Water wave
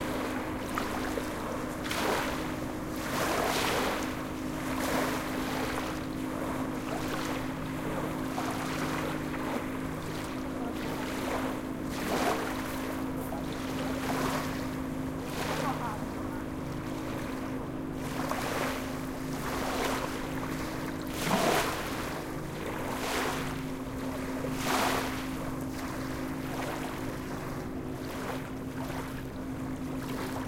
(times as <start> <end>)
18.0 27.3